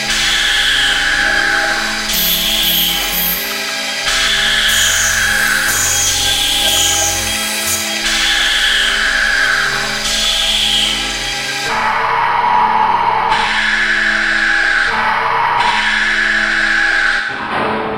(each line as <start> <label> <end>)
0.1 machinery 11.4